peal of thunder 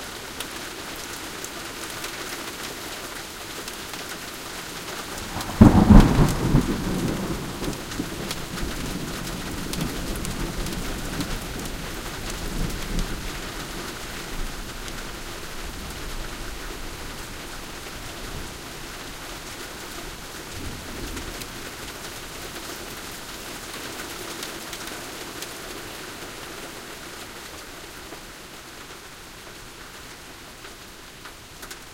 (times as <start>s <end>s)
5.2s 11.4s